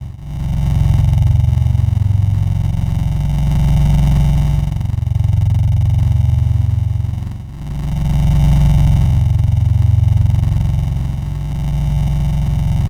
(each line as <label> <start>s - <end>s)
Machinery 0.0s - 12.8s